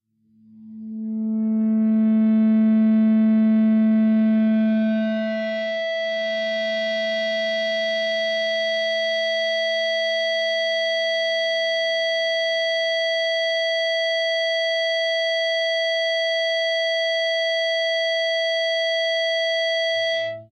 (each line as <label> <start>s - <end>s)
Feedback from the open A (5th) string 0.4s - 9.5s